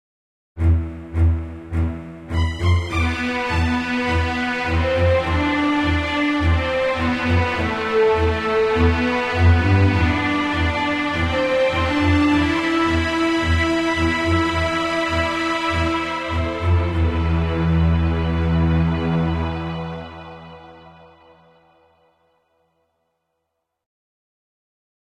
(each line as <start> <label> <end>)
0.6 Strings 22.2